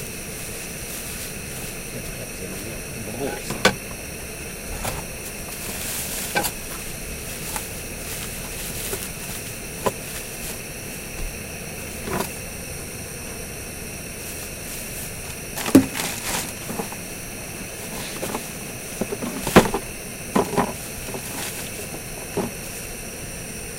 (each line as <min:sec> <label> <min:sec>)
0:00.0 rattle 0:23.2
0:00.0 Cooking sausage inside the truck cab 0:23.7
0:00.0 camping stove 0:23.7